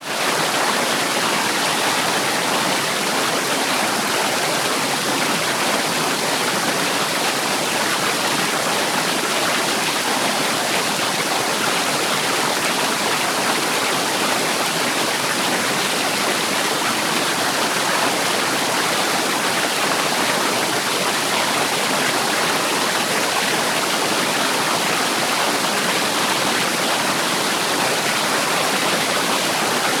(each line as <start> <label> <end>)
0.0 Water falling over rocks in a fast flowing creek 30.0